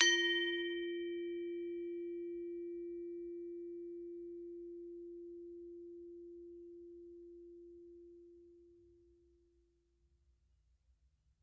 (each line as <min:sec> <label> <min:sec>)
0:00.0 Gamelan 0:02.0